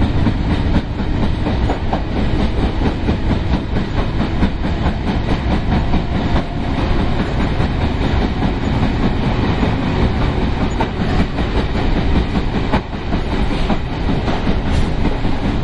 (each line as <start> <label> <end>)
0.0 train 15.6